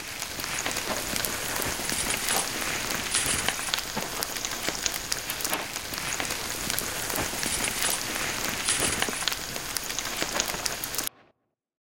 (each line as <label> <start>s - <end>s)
charcoal 0.0s - 11.1s
regular bonfire 0.0s - 11.2s